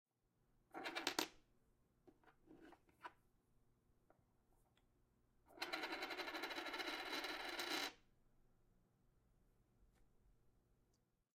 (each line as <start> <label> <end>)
0.8 fliping coin on wood table 1.4
5.5 fliping coin on wood table 8.0